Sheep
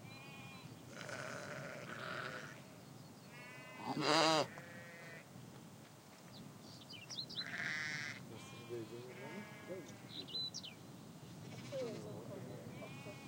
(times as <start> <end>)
0.1 2.6, 3.3 5.2, 11.4 13.2